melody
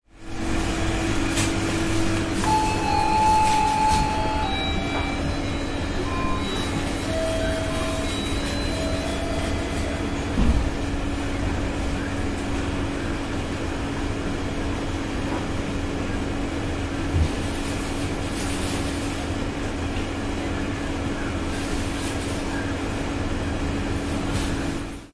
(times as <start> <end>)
2.1 10.4